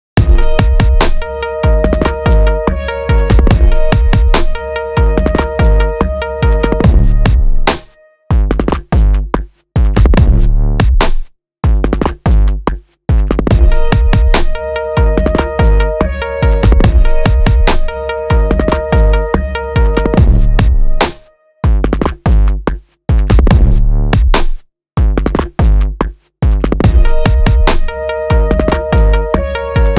bass 0.0 - 29.9
melody 0.2 - 8.2
hip hop beat 0.2 - 8.7
melody 13.5 - 21.5
hip hop beat 13.5 - 21.9
hip hop beat 26.9 - 29.9
melody 26.9 - 29.9

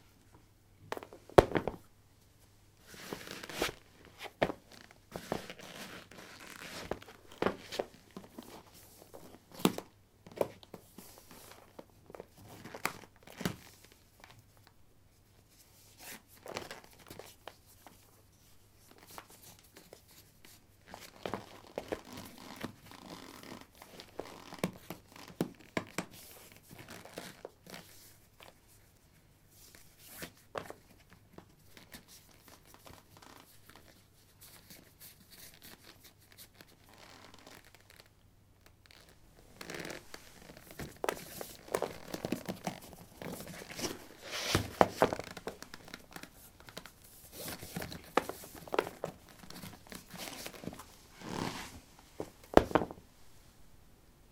Putting trekking boots on/off on linoleum 50.2 - 53.0

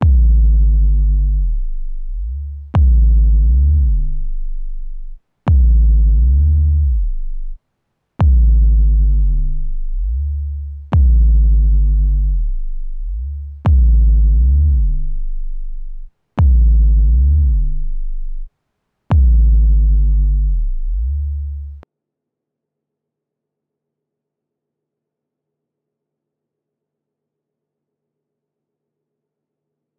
kick 3 loop 0.0 - 7.6
kick 3 loop 8.2 - 18.5
kick 3 loop 19.1 - 21.8

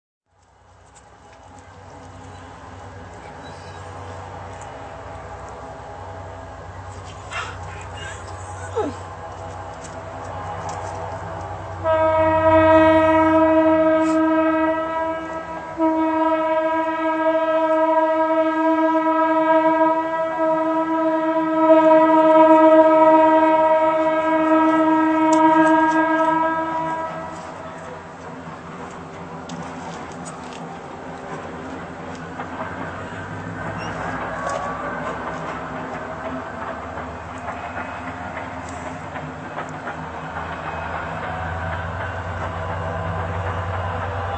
Tren 32.8 - 36.5

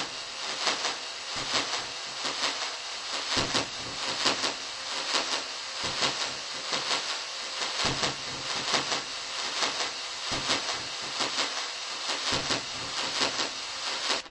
dub drums 006 spacefill delayz 0.0 - 11.5

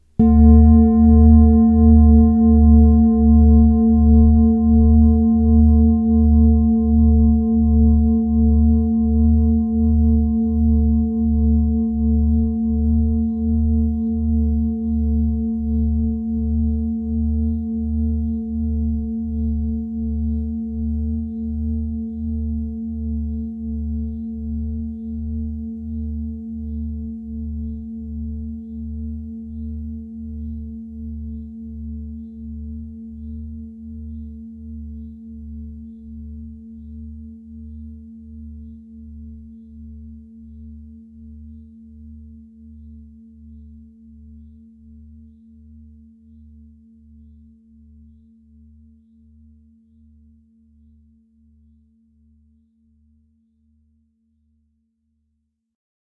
Tibetan singing bowl soft mallet 0.0 - 52.6

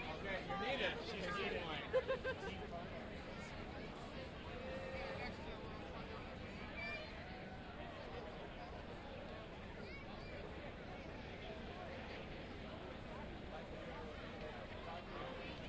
large crowd talking amongst themselves 0.0 - 15.6

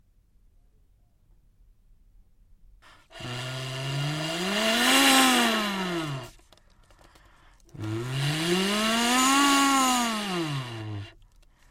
toy car's engine revving up 2.9 - 11.3

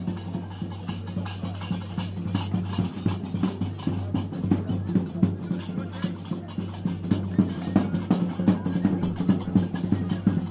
African Music 0.0 - 10.5

